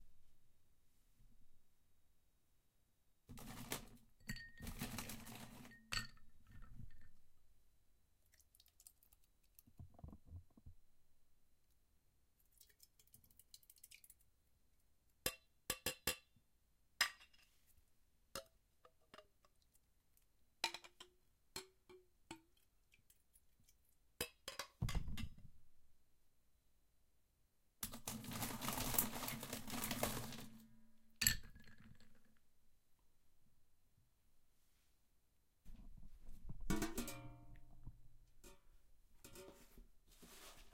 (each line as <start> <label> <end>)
3.3 ice 5.9
4.2 glass 4.7
27.8 ice 30.6
27.8 pouring 30.6
31.2 glass 32.2